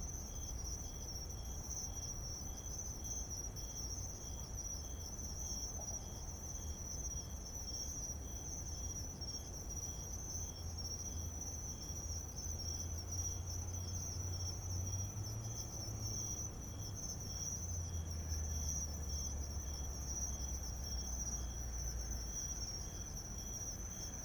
0.0s Insects sound 24.2s

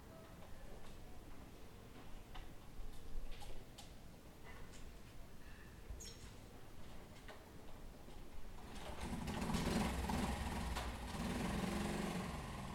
8.6s motorbike 12.7s

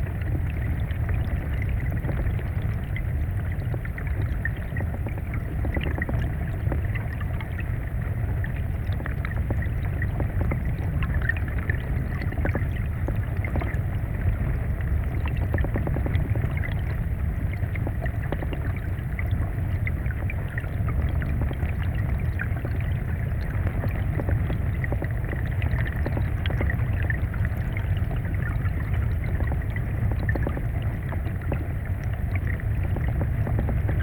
0.0s flooded river underwater 34.0s

